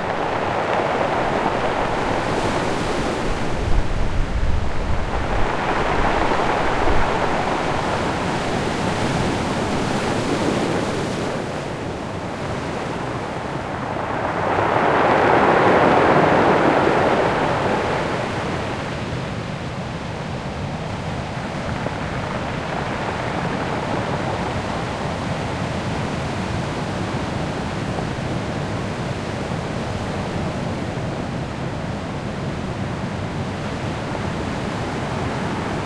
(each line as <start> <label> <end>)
0.0 foam 29.2
0.0 sea 35.8